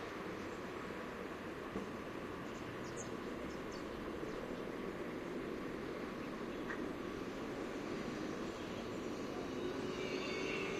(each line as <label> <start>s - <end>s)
birds 2.3s - 5.1s